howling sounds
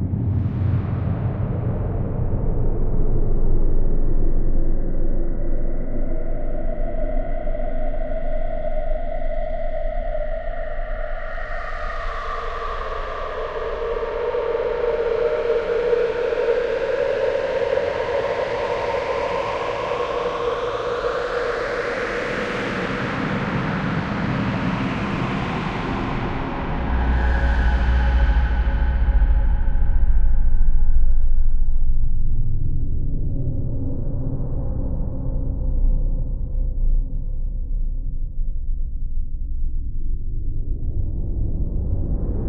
6.0 30.5

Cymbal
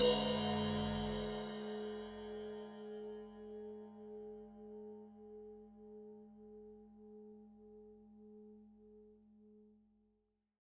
0.0 3.8

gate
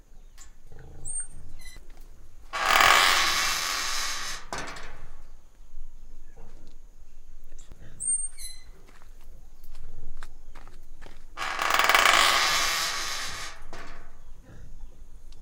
0.3 5.6, 11.4 14.6

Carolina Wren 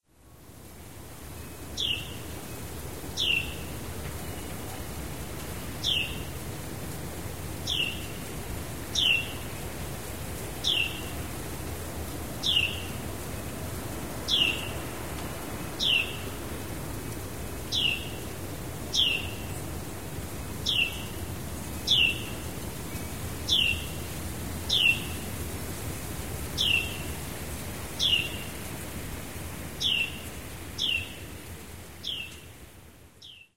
3.2 4.8, 8.9 9.5, 10.6 11.1, 12.4 13.0, 14.2 14.9, 15.8 16.4, 18.9 19.6, 20.6 21.2, 21.9 22.4, 23.5 24.0, 24.7 25.2, 26.6 27.2, 29.8 31.2

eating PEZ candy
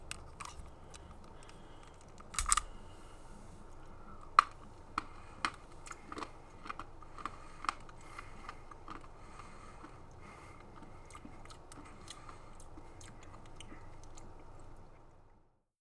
3.6 15.1

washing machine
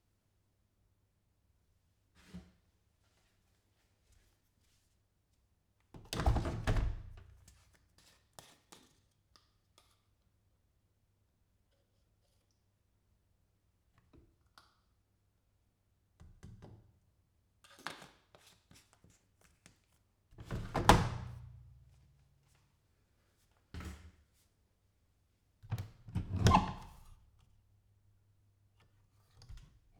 25.7 27.0

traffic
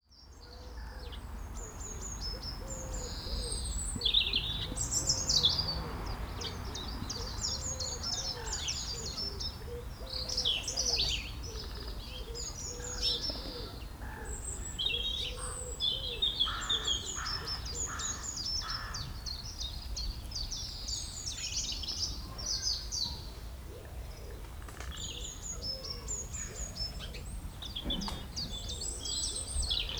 0.3 22.2

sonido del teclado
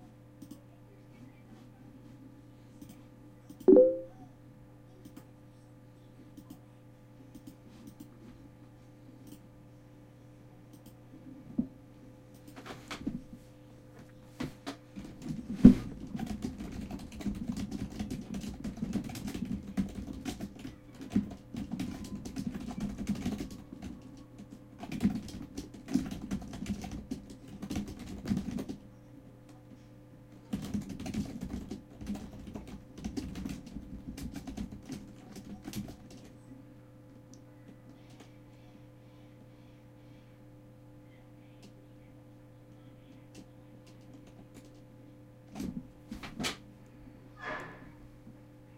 3.7 4.1

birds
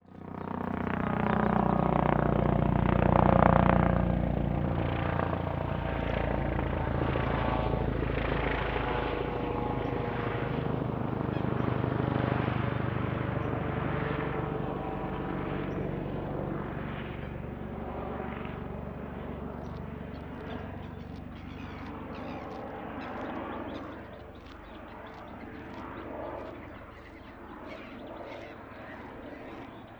8.4 13.7, 17.1 29.9

